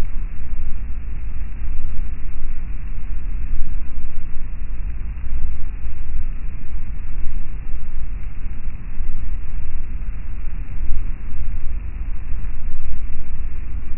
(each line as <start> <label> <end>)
0.0 static 13.9